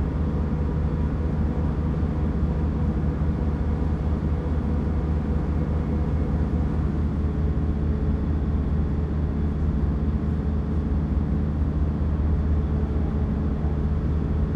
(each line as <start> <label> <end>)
0.0 generator of a mobile concrete plant 14.5